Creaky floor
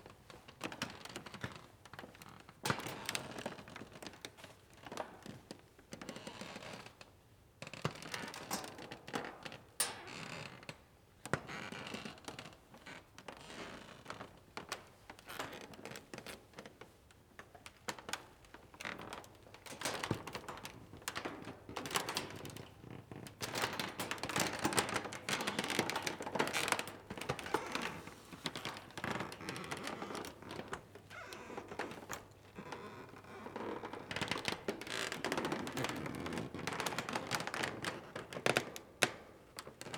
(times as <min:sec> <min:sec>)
0:25.3 0:36.6